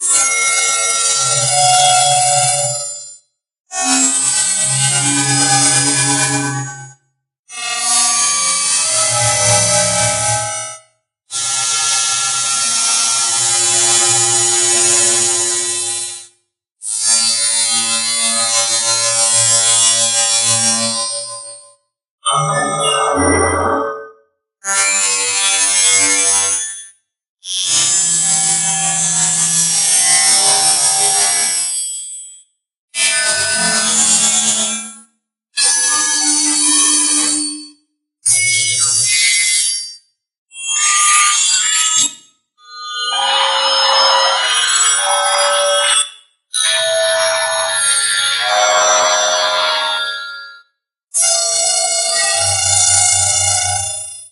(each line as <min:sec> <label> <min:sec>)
0:22.3 glitchy sounds 0:24.2